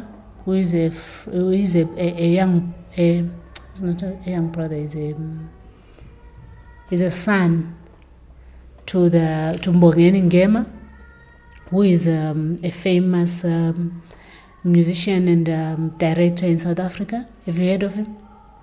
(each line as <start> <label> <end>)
1.4 someone practicing, singing 18.6